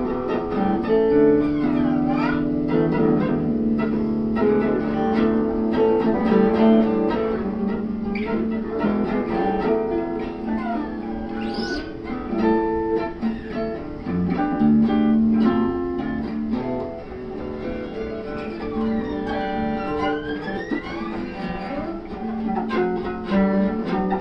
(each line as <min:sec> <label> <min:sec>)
0:00.0 guitar 0:24.2